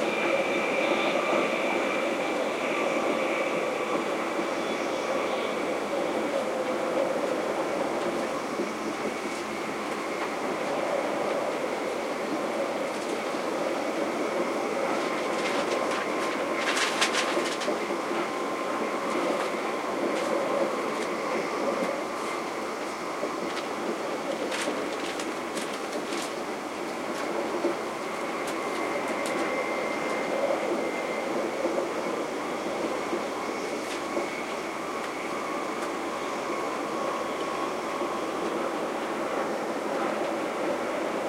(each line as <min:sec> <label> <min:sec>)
0:00.0 train 0:41.2